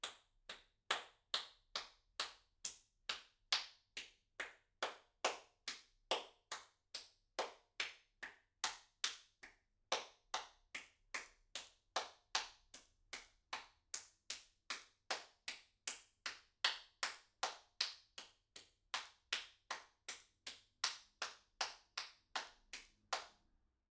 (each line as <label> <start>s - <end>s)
Applause 20.8s - 23.3s